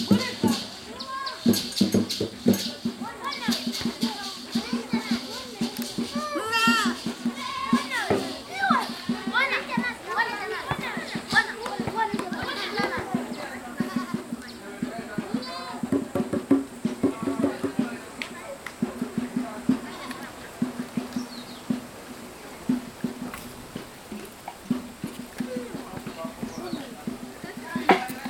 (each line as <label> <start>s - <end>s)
music class in process 0.0s - 28.2s
wind in the branches 17.9s - 28.2s